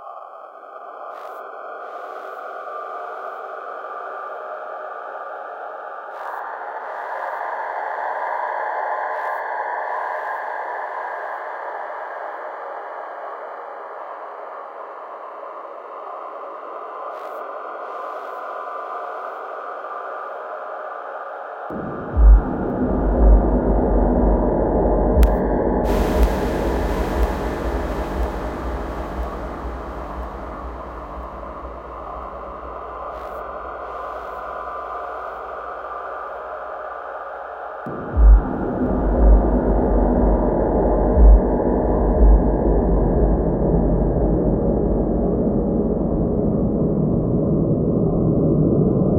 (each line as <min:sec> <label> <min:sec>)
0:25.2 triple osc 0:34.2
0:25.9 clash cymbal 0:34.4